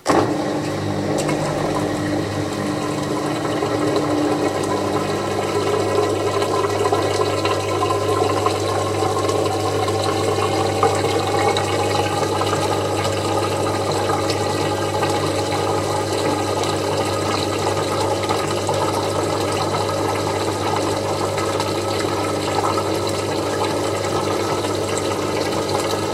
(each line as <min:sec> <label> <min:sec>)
0:00.0 Washing Machine 0:26.1
0:00.1 dripping 0:26.1